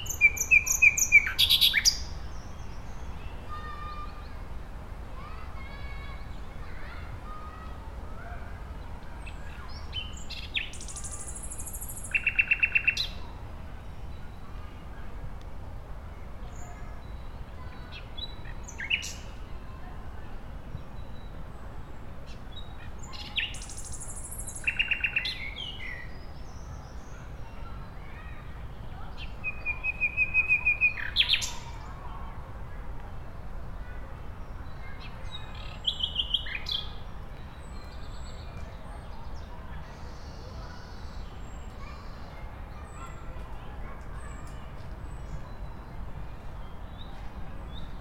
0.0s children on a playground 48.0s

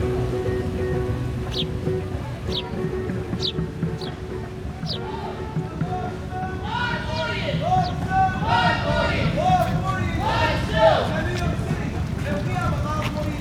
0.0s Street Entertainers 13.4s
0.0s Voices 13.4s
0.0s brisk walk 13.4s

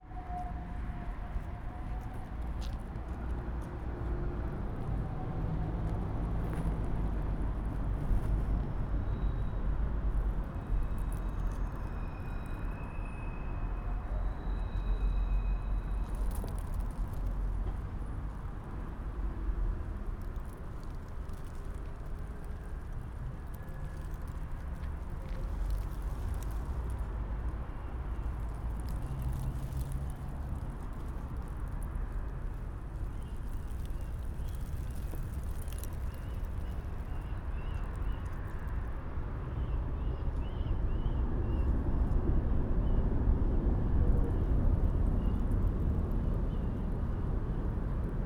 20.0s Dry leaves rustle 38.7s

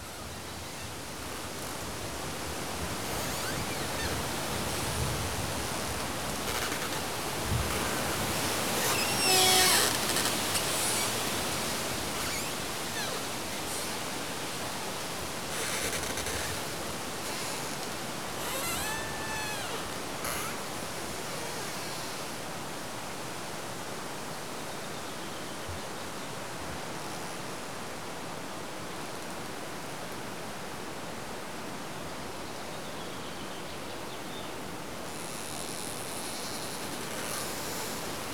6.1s branches of a willow tree rubbing against its trunk 14.0s
35.2s branches of a willow tree rubbing against its trunk 38.3s

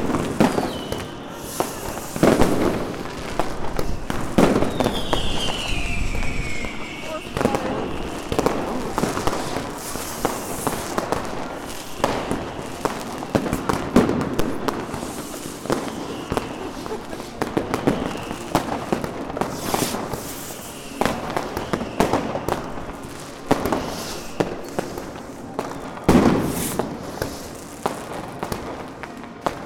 0.0s people sharing new years wishes 29.4s
0.0s Fireworks 29.6s
0.0s church bells 29.6s

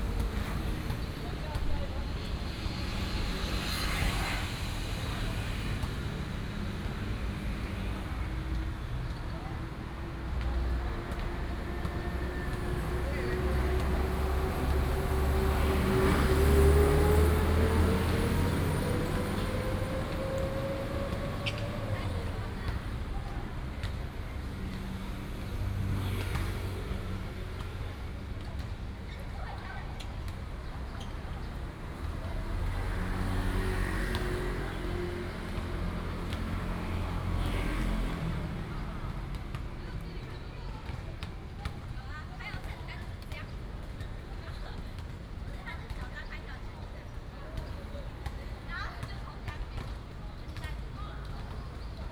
0.0s Traffic Sound 52.1s
0.0s Basketball court 16.3s
20.0s Basketball court 52.1s

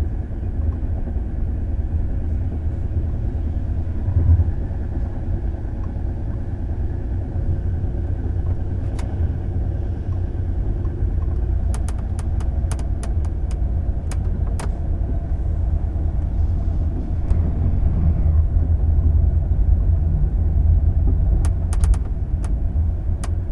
0.0s Night train 23.5s
11.1s noise from moving furniture 20.0s

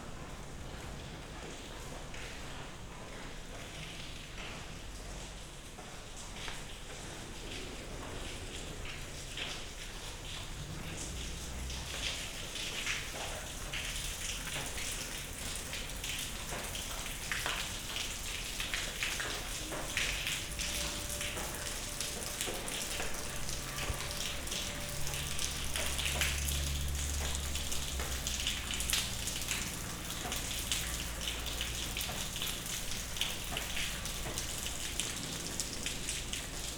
0.0s rain drops falling from the broken ceiling 36.7s

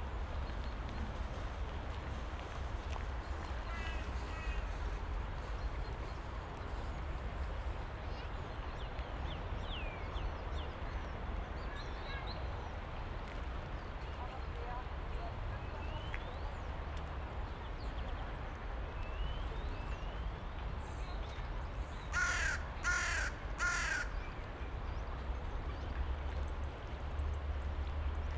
0.0s constant traffic hum in the background 28.3s
0.0s pedestrians passing by 28.3s
0.1s birds 16.8s
17.4s birds 27.5s

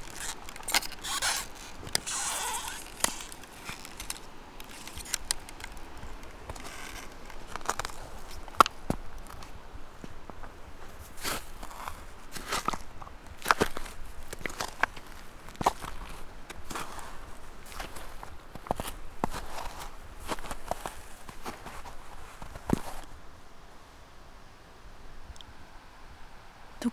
0.0s steps 23.1s
0.0s river 26.9s

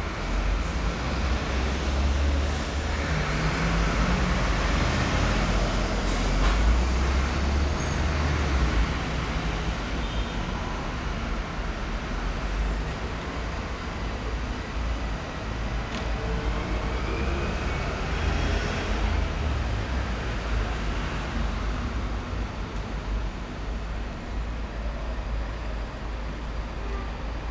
0.0s traffic 27.5s

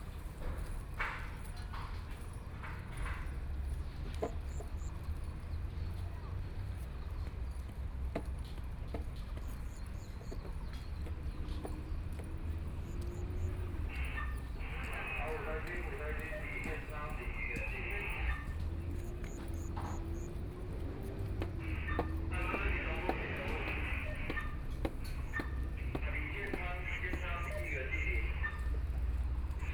0.0s Construction works 29.7s
21.6s crowd 28.6s

